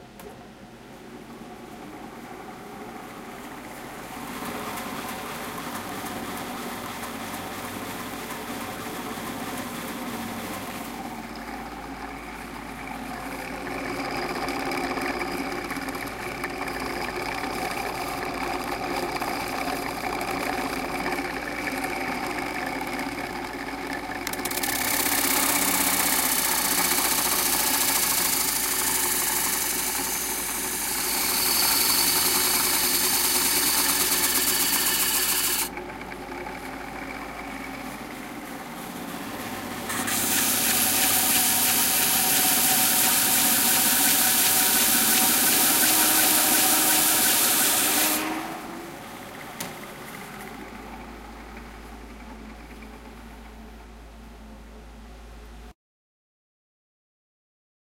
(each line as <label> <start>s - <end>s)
Sanding a block of wood 24.9s - 35.7s
Sanding a block of wood 40.0s - 48.2s